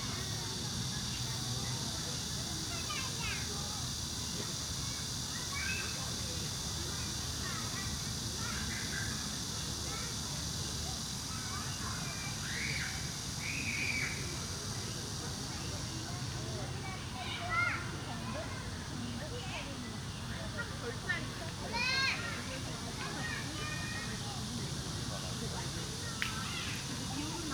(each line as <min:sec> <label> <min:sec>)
0:00.0 cicada 0:27.5
0:20.9 childrens playing traditional games 0:27.5